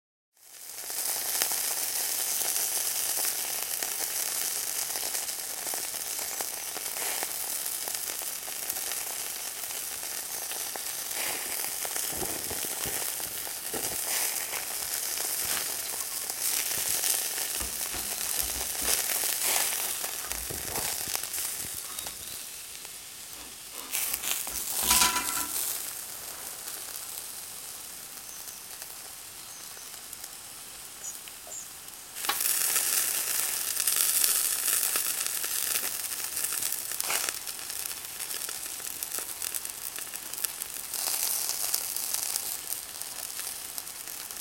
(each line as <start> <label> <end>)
0.3 sausages sizzling on the barbecue 44.4
11.2 grill tongs clatter 22.4
12.1 grating off the BBQ 22.4
21.6 birds 22.8
23.3 grating off the BBQ 25.8
23.3 grill tongs clatter 26.0
31.0 birds 31.8
32.2 grill tongs clatter 32.5